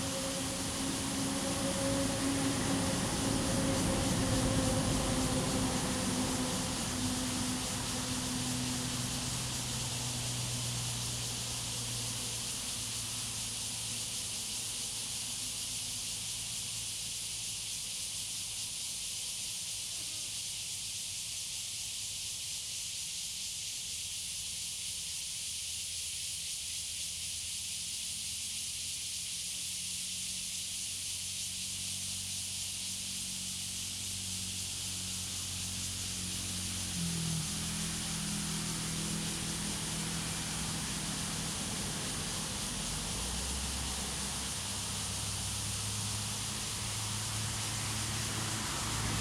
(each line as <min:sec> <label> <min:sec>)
0:00.0 Traffic Sound 0:15.7
0:00.0 Cicadas sound 0:49.2
0:33.0 Traffic Sound 0:49.2